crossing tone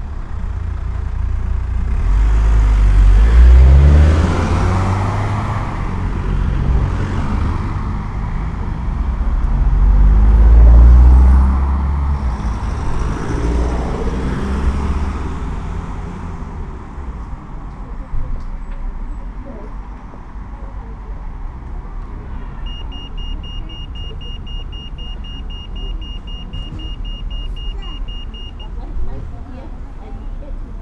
22.1 30.8

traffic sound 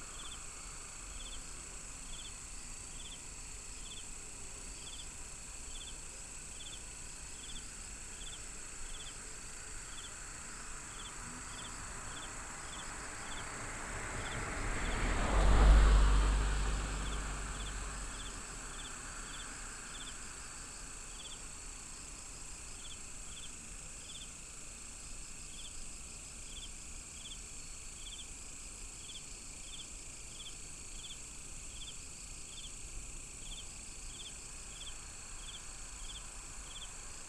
10.2 20.9

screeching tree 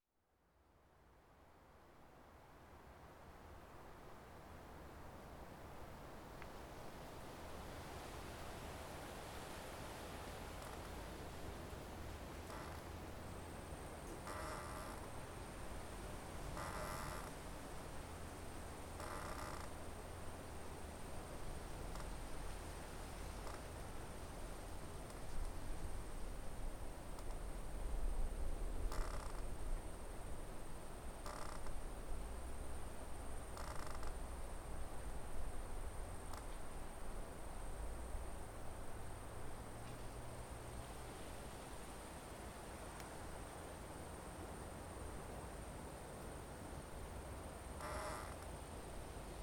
10.6 11.1, 12.3 13.0, 14.0 15.8, 16.4 17.6, 18.9 19.9, 21.8 22.3, 23.3 23.8, 28.8 29.6, 31.2 31.9, 33.4 34.6, 47.7 48.6

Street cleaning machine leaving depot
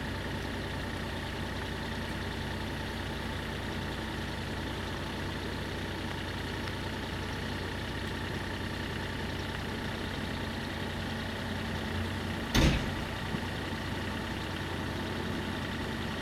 10.2 16.2

